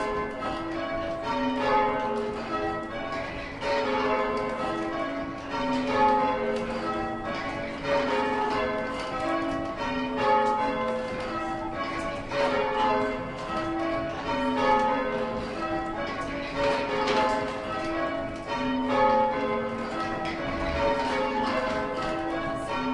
bells above 0:00.0 - 0:22.9
movement of the bell-ropes 0:00.0 - 0:22.9

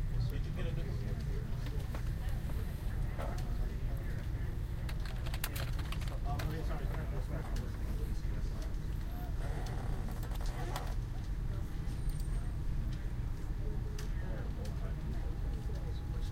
typing 0:04.9 - 0:06.6

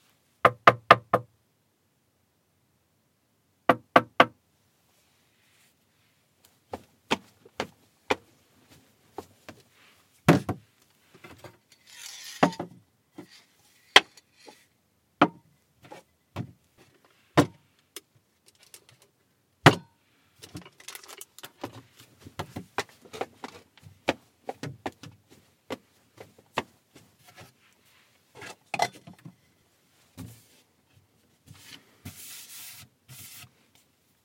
moving things over wooden surface 0:11.1 - 0:14.7
moving things over wooden surface 0:27.2 - 0:29.3
moving things over wooden surface 0:31.5 - 0:33.6

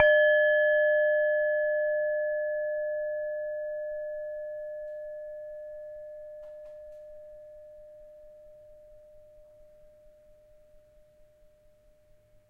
Tibetan singing bowl struck 0:00.0 - 0:10.0

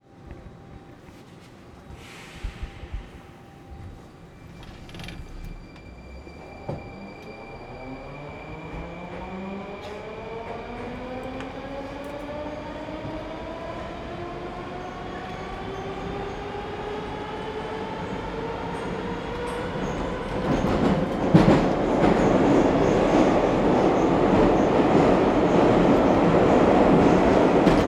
almost only trains 0:00.0 - 0:27.9

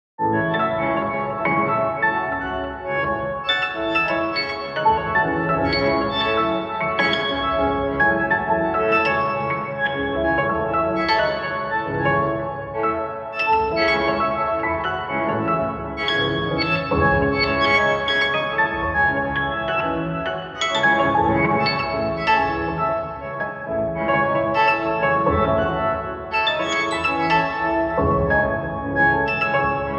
Piano 0:00.2 - 0:29.9

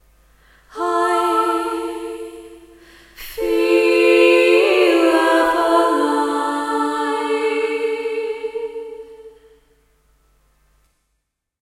short layered vocal clip 0:00.7 - 0:09.6

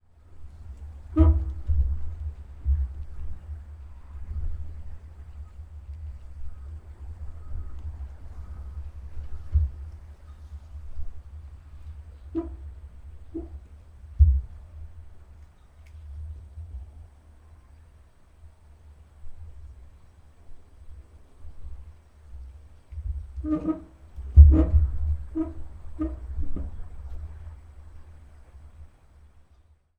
moderate gusty wind 0:00.0 - 0:29.9
Rose bush scraping against a metal box tube downpipe 0:00.5 - 0:03.2
Rose bush scraping against a metal box tube downpipe 0:08.3 - 0:14.8
Rose bush scraping against a metal box tube downpipe 0:22.9 - 0:28.0

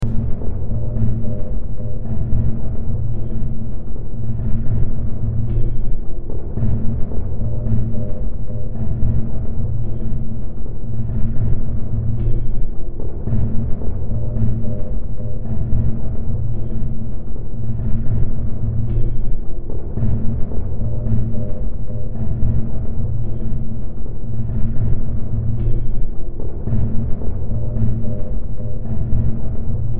Drone 0:00.0 - 0:29.9

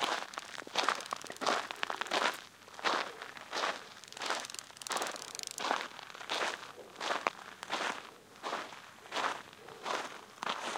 many locusts 0:00.0 - 0:02.2
many locusts 0:03.9 - 0:05.8

